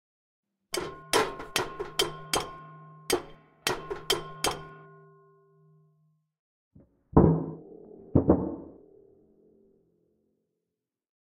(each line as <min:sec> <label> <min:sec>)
0:07.1 blast door knocking and banging 0:08.8